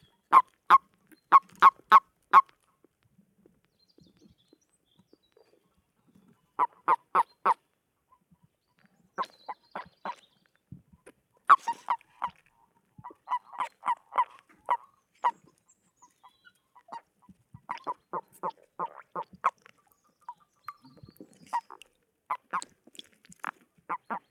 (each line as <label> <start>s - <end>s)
mating frogs 0.3s - 2.6s
mating frogs 11.0s - 24.3s